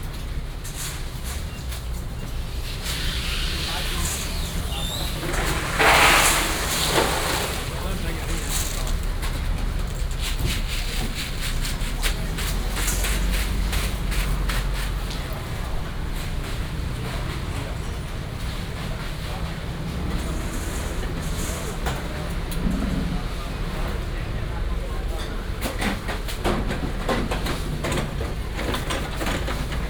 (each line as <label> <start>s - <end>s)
Traffic sound 0.0s - 29.8s